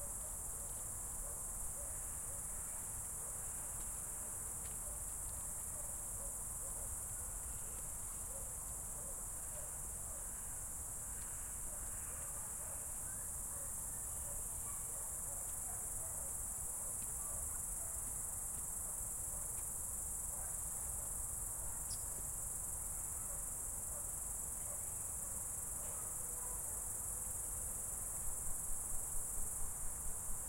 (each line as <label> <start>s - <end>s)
crickets 0.0s - 30.4s